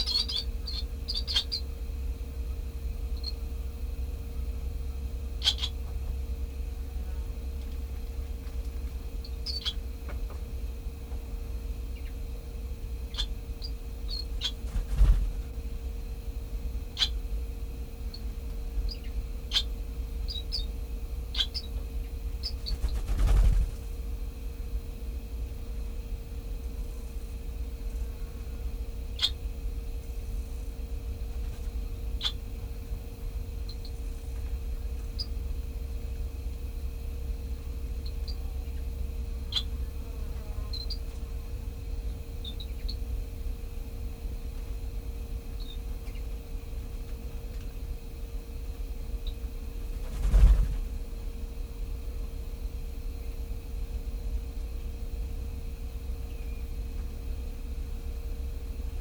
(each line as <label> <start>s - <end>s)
sandwich tern 0.0s - 1.7s
common tern 0.0s - 1.7s
barn swallow nest 0.0s - 25.0s
common tern 5.4s - 6.0s
sandwich tern 5.4s - 5.8s
common tern 9.2s - 9.9s
sandwich tern 9.4s - 9.8s
sandwich tern 18.9s - 19.7s
barn swallow nest 25.7s - 46.9s
common tern 28.5s - 29.4s
sandwich tern 29.1s - 29.4s
common tern 32.1s - 32.5s
common tern 38.0s - 41.4s